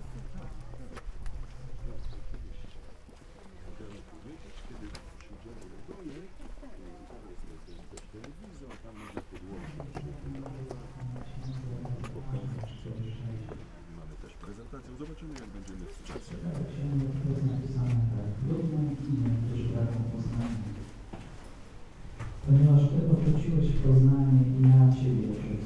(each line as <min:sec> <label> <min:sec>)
0:00.0 christian church service 0:25.6